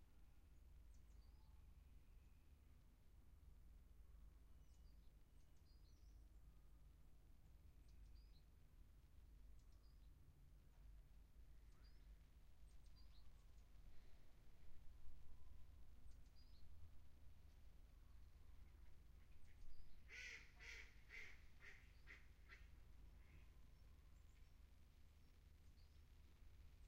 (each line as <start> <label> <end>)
19.4 ducks 23.4